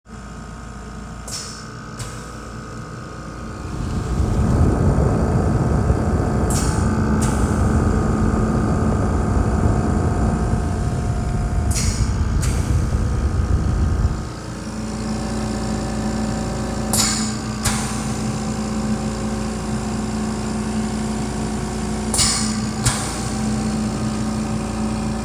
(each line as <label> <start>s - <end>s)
oxygen machine running 0.1s - 25.2s